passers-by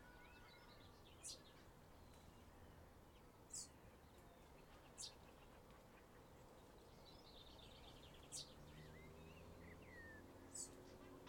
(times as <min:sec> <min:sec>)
0:07.8 0:11.2